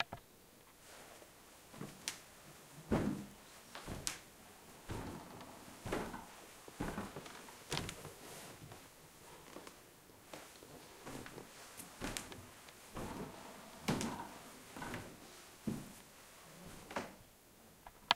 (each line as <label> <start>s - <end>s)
walking on a old wooden floor 1.7s - 17.2s